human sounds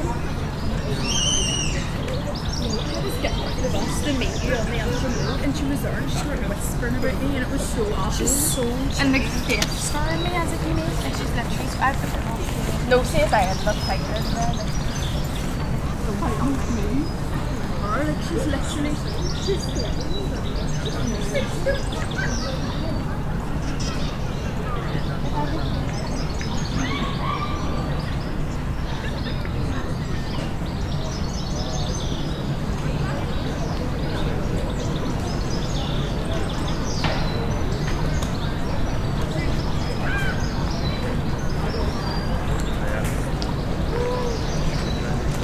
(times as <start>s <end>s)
40.0s 45.4s